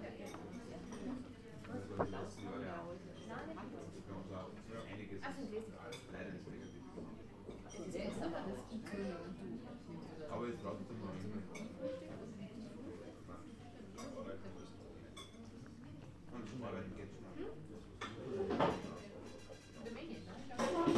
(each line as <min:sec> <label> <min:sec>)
0:18.7 Perkussion 0:20.9